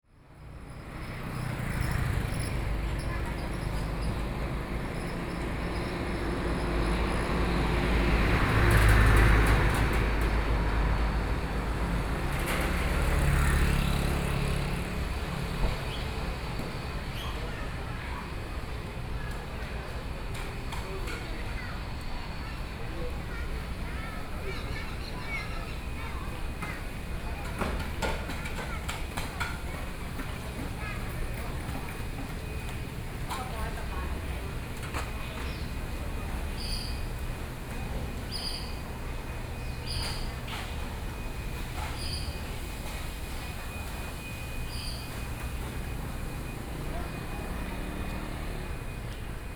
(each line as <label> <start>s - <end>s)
Traffic Sound 0.2s - 49.5s
Various shops voices 0.2s - 49.5s
walking on the Road 0.4s - 49.5s